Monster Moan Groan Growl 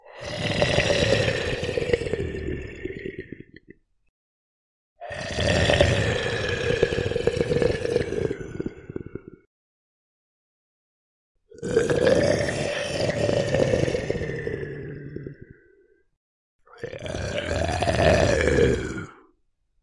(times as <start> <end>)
0.0 3.6, 5.0 9.4, 11.6 15.5, 16.8 19.3